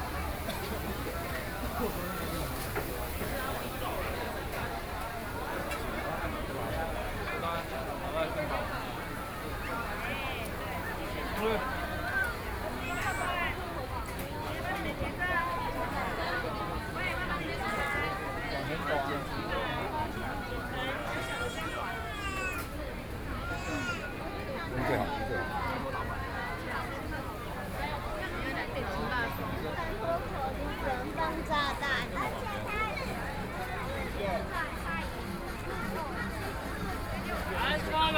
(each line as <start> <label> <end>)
0.0 Various shops voices 38.1
0.0 walking in the Street 38.1